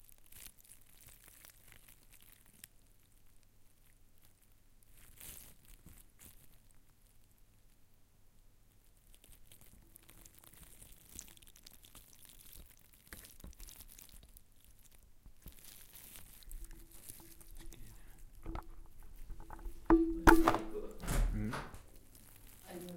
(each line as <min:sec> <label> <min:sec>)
0:15.4 pulling on the thorns 0:21.0